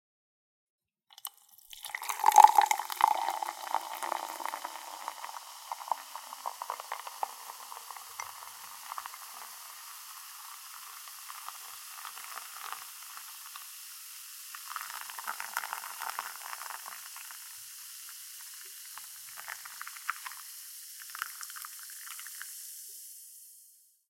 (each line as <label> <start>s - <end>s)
Pouring a fizzy drink or been into glass 1.1s - 23.7s